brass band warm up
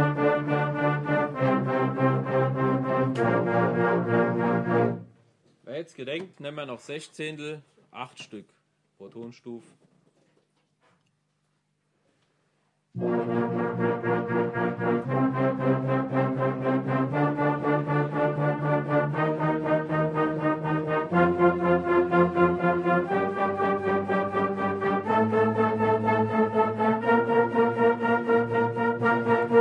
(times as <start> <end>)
0.0 5.3, 12.9 29.6